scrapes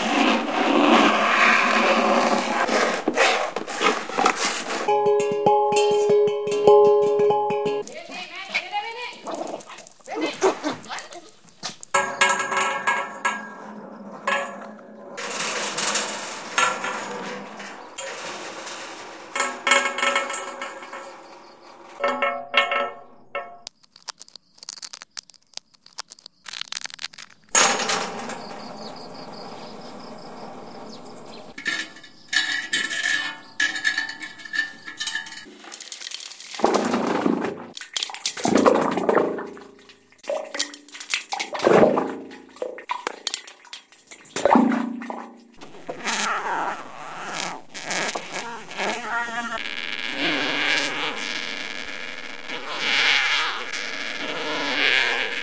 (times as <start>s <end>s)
0.0s 6.8s, 7.7s 35.6s